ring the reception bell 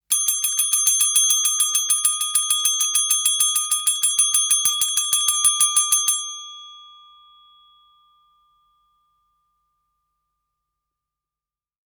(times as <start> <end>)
0.1 9.4